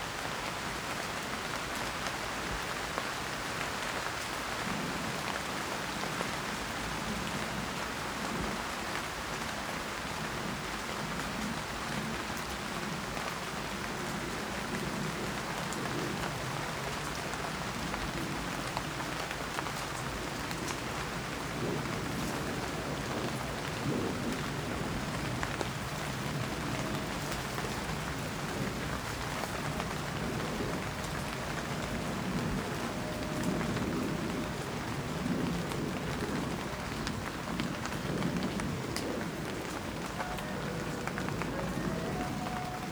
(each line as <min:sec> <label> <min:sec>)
0:00.0 Rain 0:42.9
0:39.8 foxes 0:42.9